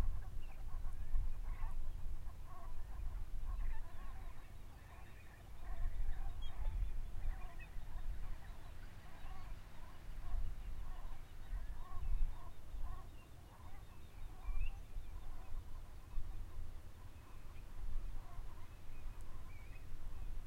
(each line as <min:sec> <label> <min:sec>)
0:00.0 Distant gaggle of Brent geese 0:20.4
0:00.0 wading bird song 0:20.4
0:00.0 windy 0:20.4